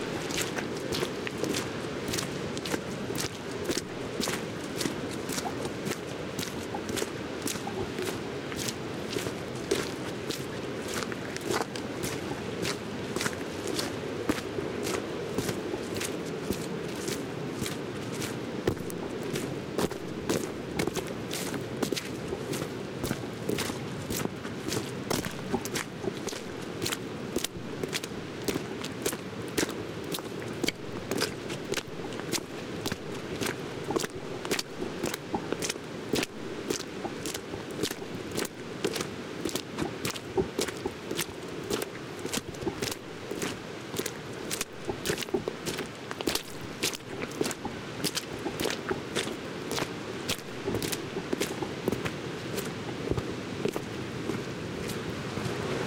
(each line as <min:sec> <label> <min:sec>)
0:00.0 Muddy Steps 0:55.8
0:00.0 stream 0:55.8
0:00.0 waterfall 0:55.8